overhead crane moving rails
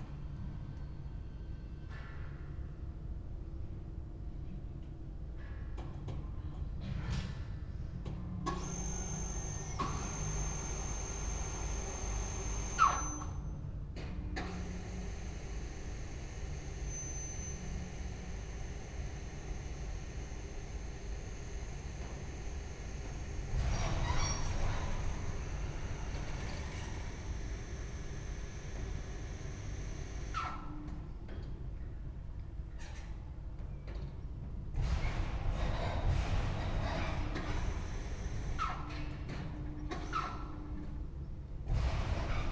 0:14.4 0:30.9

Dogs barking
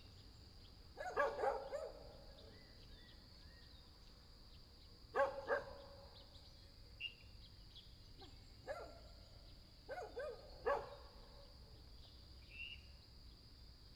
0:01.0 0:02.2, 0:05.2 0:05.9, 0:08.7 0:09.0, 0:09.9 0:11.1

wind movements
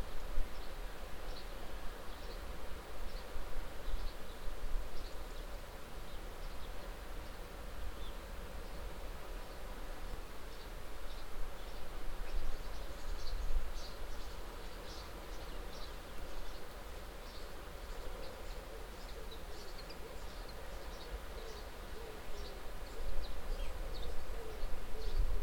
0:20.4 0:25.4

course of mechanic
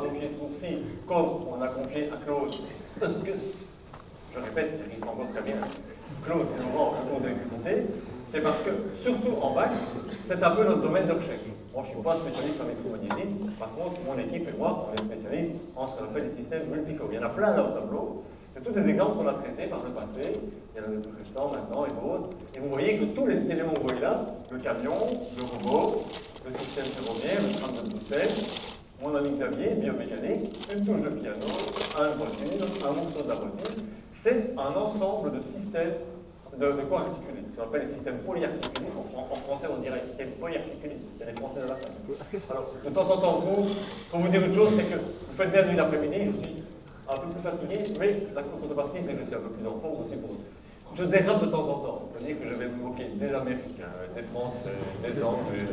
0:12.5 0:15.2, 0:19.8 0:34.2, 0:38.1 0:42.2

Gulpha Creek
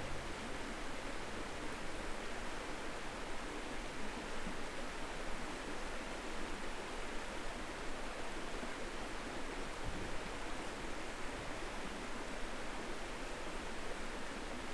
0:00.0 0:01.4

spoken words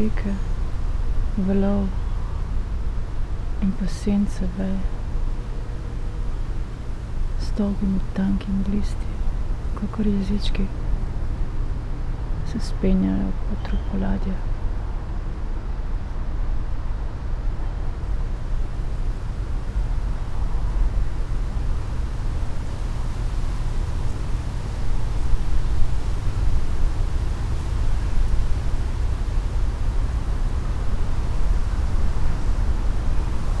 0:00.0 0:00.4, 0:03.6 0:04.9, 0:09.8 0:10.7, 0:12.5 0:14.4

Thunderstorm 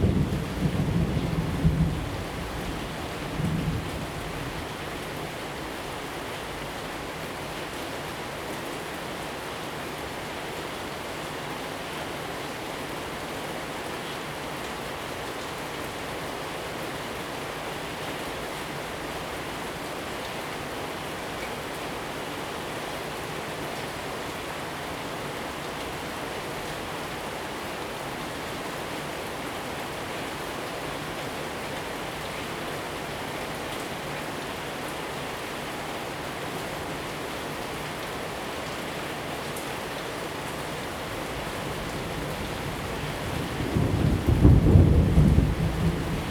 0:00.0 0:04.9, 0:41.5 0:46.3

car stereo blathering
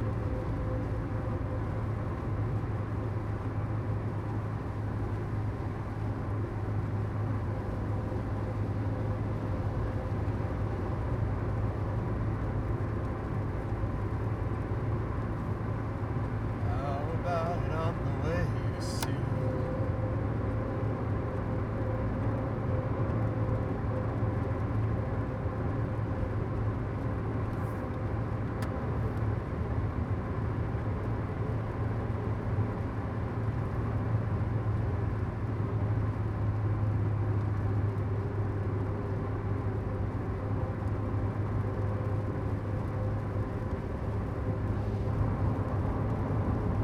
0:16.8 0:19.5

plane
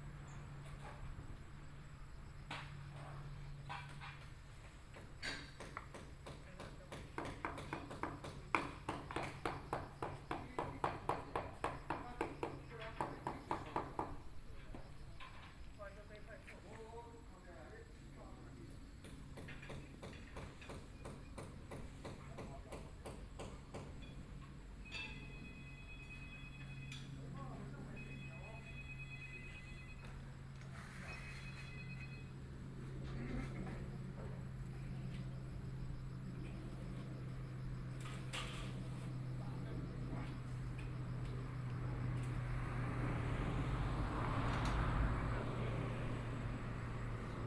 0:24.2 0:47.4

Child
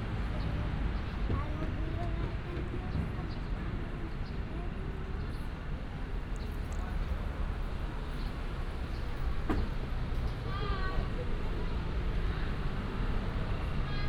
0:01.3 0:05.2

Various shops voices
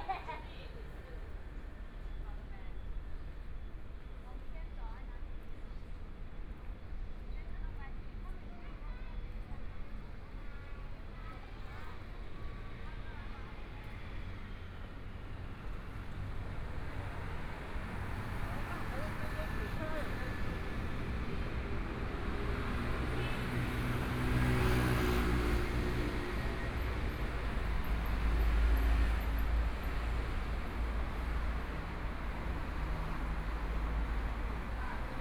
0:17.8 0:23.6

